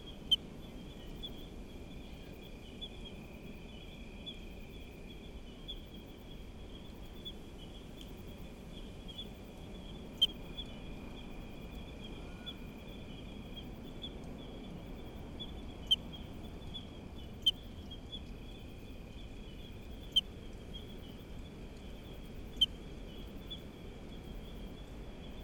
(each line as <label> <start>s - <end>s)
Night cicadas 0.0s - 25.4s
ocean 0.0s - 25.4s
other creatures of the night 0.0s - 25.4s